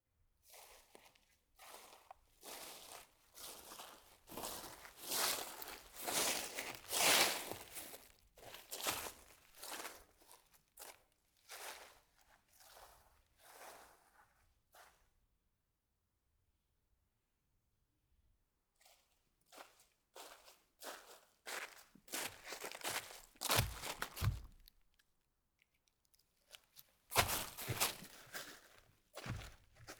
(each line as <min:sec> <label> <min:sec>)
0:00.5 Walking at moderate speed in the forest 0:14.2
0:19.5 Walking at moderate speed in the forest 0:24.7
0:26.5 Walking at moderate speed in the forest 0:29.9